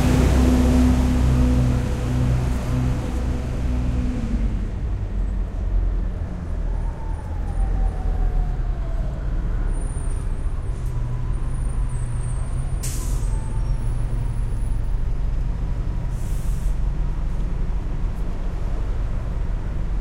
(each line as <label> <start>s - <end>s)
buses pass by 0.0s - 20.0s